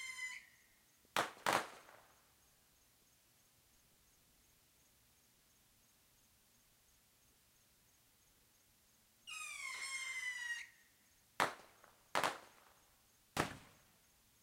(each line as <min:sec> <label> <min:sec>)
0:01.1 Fireworks directly overhead 0:02.1
0:11.4 Fireworks directly overhead 0:13.9